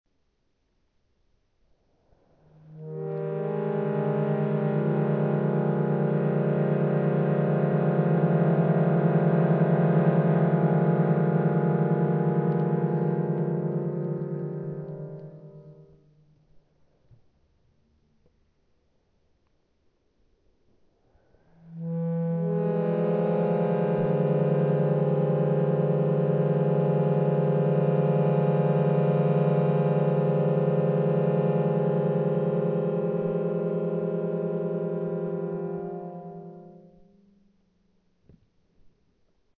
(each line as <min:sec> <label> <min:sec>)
0:03.0 accordion 0:15.7